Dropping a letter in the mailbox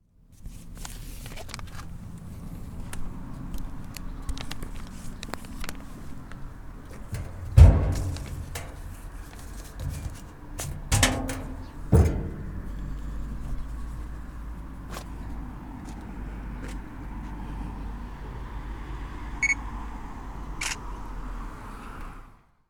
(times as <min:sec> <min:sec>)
0:06.9 0:12.9